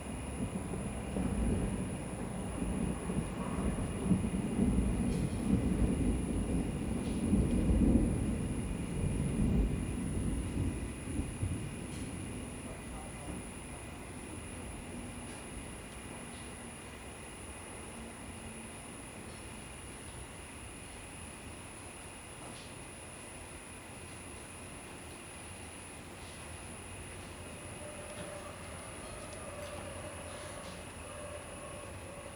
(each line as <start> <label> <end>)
0.0 Thunder 16.8
0.0 insects 32.3
0.0 rain 32.3